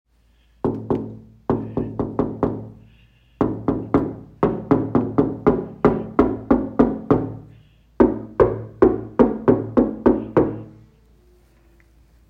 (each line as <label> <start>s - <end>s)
Knuckles banging on window 0.6s - 2.8s
Knuckles banging on window 3.4s - 10.8s